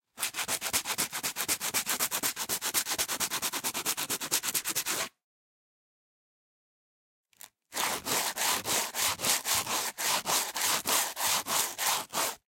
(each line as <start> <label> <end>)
0.2 sand paper 5.1
7.8 sand paper 12.4